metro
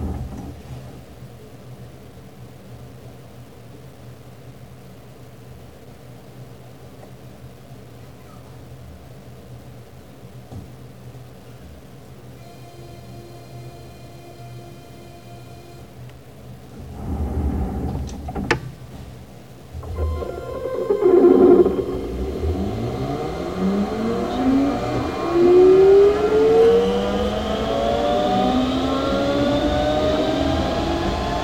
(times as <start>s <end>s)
19.8s 31.4s